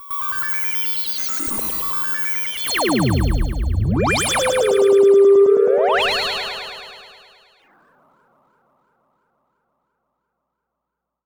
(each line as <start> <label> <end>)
2.7 Analog Bass 7.3
2.8 Sweeps 7.4